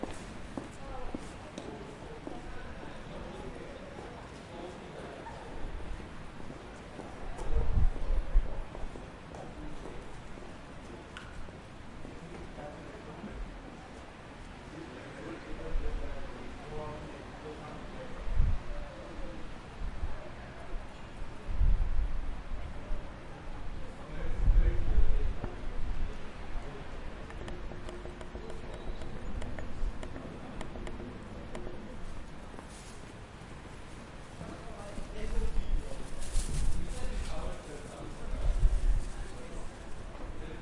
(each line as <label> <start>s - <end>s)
students walking past, talking and laughing 0.0s - 40.6s